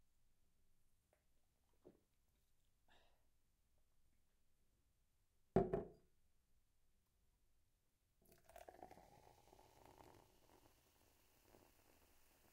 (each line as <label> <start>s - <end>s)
drinking the soda 8.3s - 10.7s
pouring into a glass 8.3s - 12.5s